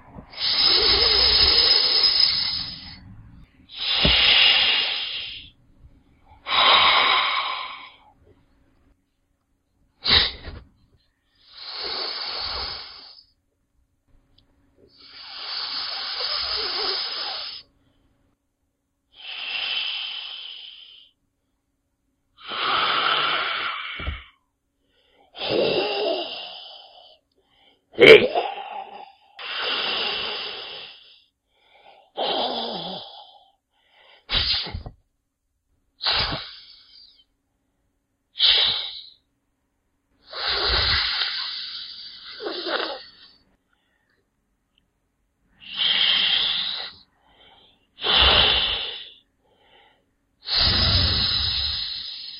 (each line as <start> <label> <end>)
0.3 human hiss 2.9
3.7 human hiss 5.5
10.0 human hiss 10.6
15.0 human hiss 17.6
34.3 human hiss 34.9
36.0 human hiss 37.0
38.4 human hiss 39.2
40.3 human hiss 43.3
45.6 human hiss 47.0
48.0 human hiss 49.2
50.4 human hiss 52.3